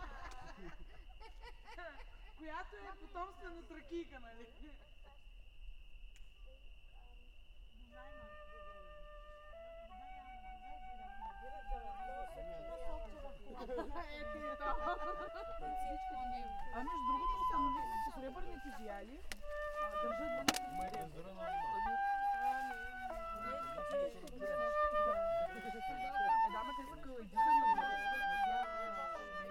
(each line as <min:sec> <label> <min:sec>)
0:00.0 camping fire 0:29.5
0:00.0 night sounds of the crickets 0:29.5
0:01.8 They talk about thracian heritage 0:29.5
0:07.9 One lady plays the flute 0:29.5